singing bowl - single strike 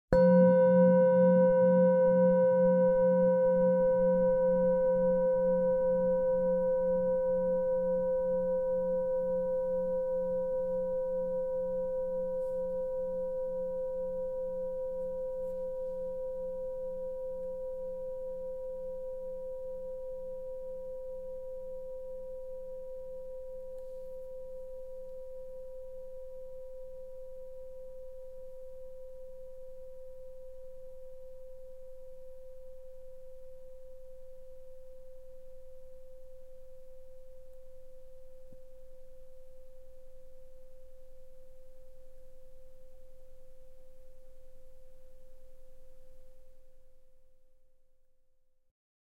0.1 7.5

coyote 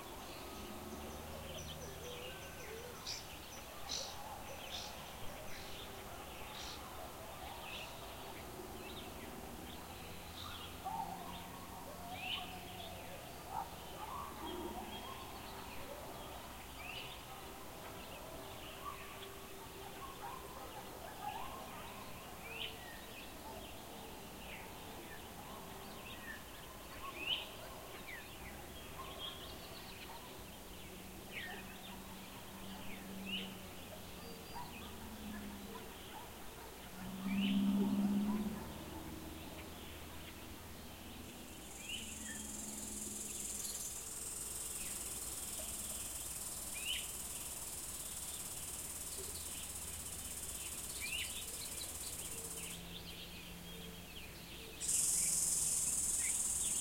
54.7 56.8

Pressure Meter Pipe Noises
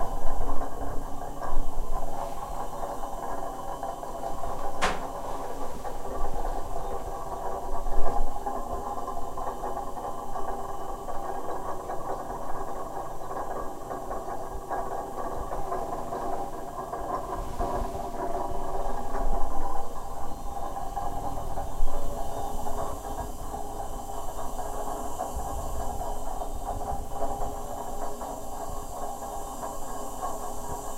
2.0 7.8

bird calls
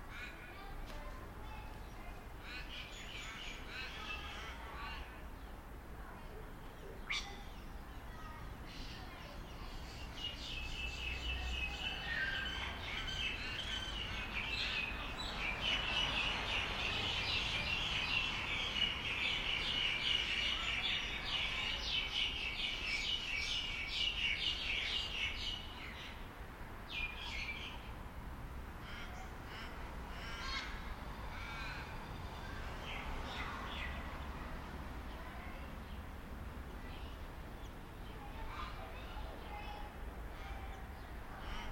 6.8 7.8

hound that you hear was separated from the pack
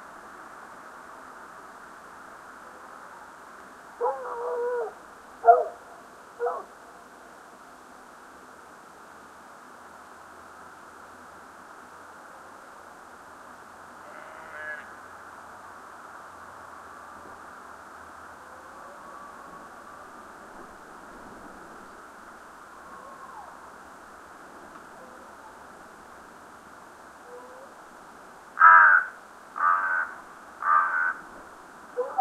6.4 6.7, 31.9 32.2

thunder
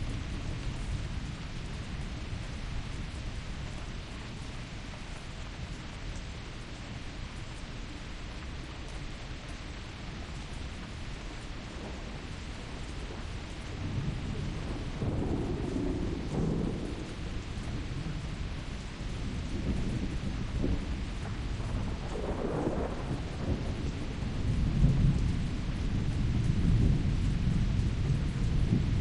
11.7 29.0

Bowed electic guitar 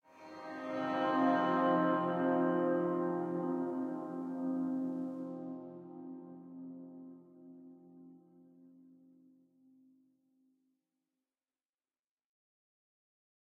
0.1 8.1

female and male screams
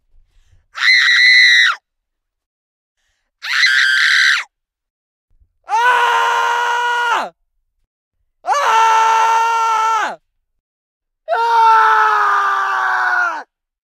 3.4 4.5, 11.3 13.5

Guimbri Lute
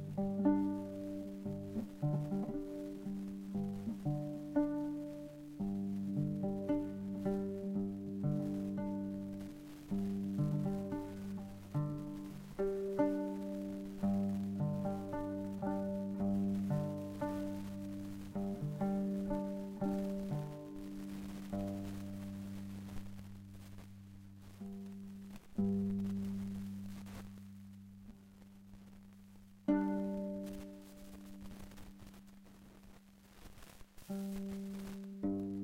0.0 23.6, 29.6 32.0, 34.1 35.6

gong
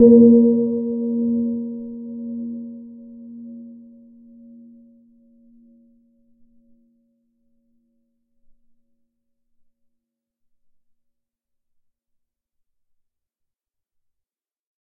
0.0 4.6

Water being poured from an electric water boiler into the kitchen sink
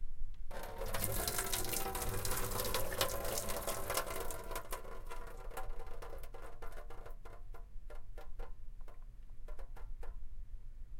0.5 5.4

